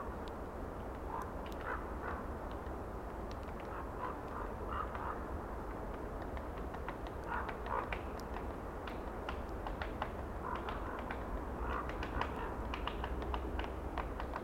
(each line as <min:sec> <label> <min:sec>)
0:00.0 Wind in trees 0:14.4
0:03.3 woodpecker 0:05.2
0:05.9 woodpecker 0:14.4